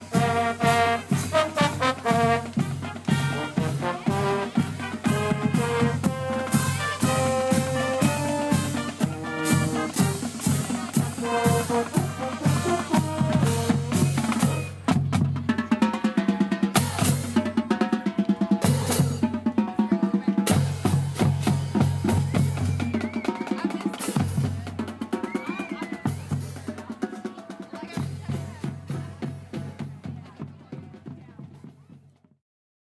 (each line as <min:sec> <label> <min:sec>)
0:00.0 Marching Band 0:32.4